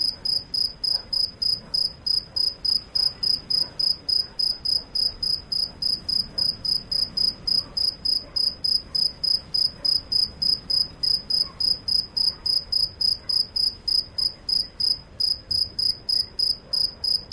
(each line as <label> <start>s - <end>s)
Cricket singing 0.2s - 17.3s